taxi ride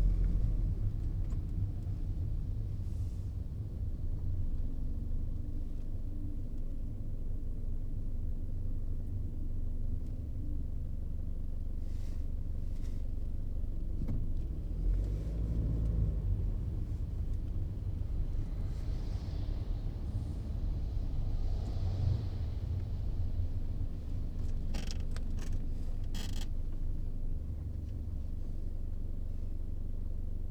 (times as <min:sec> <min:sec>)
0:00.0 0:06.6, 0:12.7 0:28.6